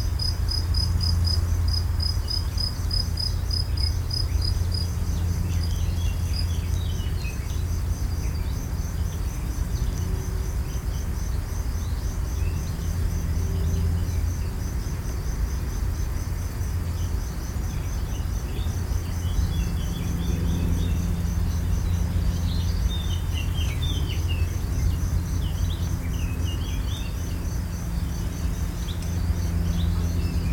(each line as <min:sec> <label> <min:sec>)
0:00.0 insects 0:30.5